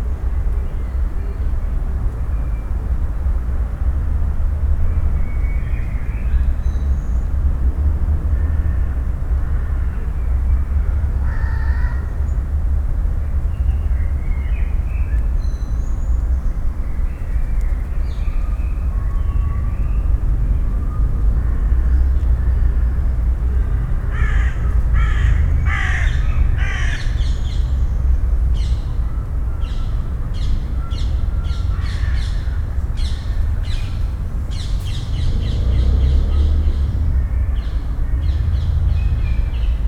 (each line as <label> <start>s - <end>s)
city drone 0.0s - 39.8s